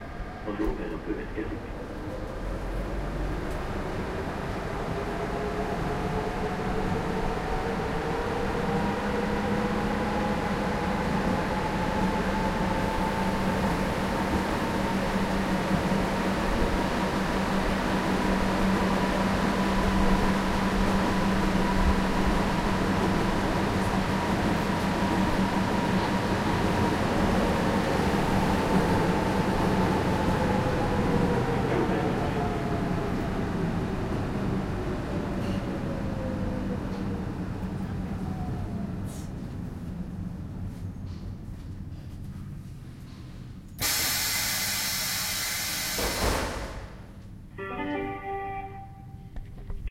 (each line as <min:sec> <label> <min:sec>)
0:00.0 rickety old train on old line underground 0:49.9